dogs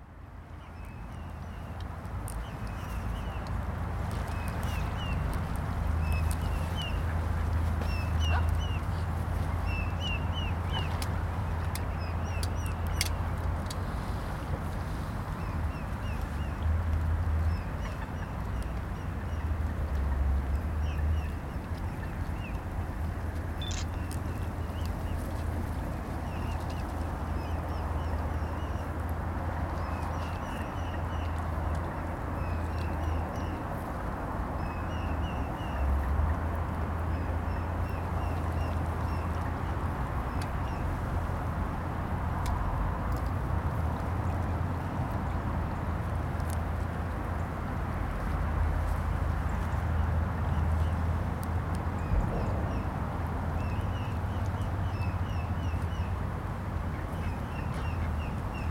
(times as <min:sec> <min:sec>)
0:08.2 0:08.8